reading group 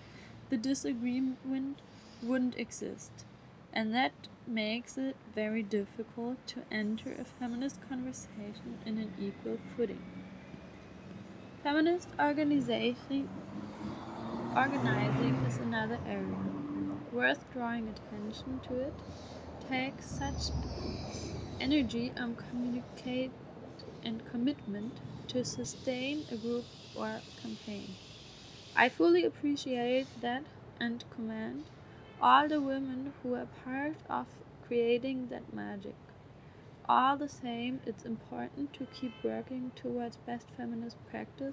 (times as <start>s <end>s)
3.8s 28.0s